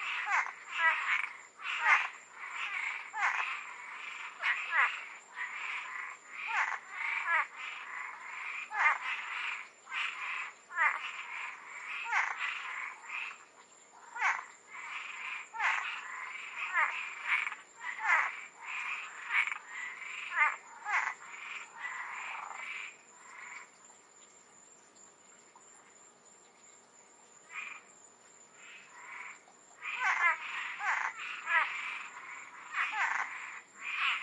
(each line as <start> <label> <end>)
0.0 frogs in Koi pond 34.2
0.0 light insect background 34.2